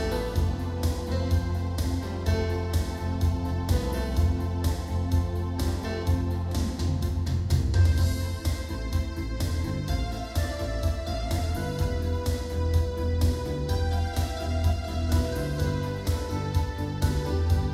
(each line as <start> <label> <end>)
0.0 digital piano 17.7